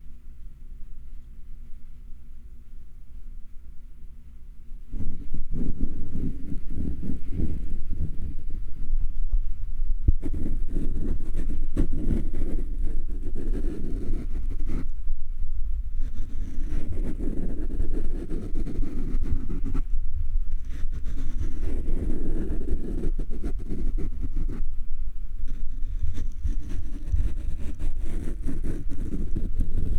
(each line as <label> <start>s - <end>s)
Mic Foam Scratching/Brushing 25.5s - 29.9s